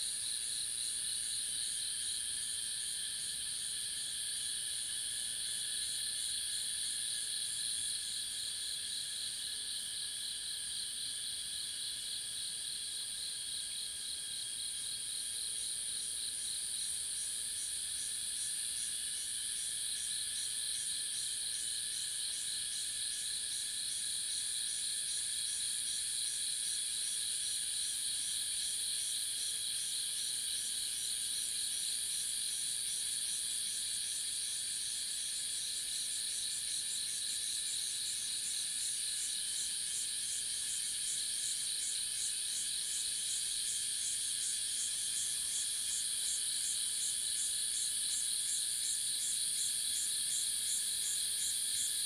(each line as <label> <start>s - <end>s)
Cicada sounds 0.1s - 52.0s
Insect sounds 13.8s - 52.0s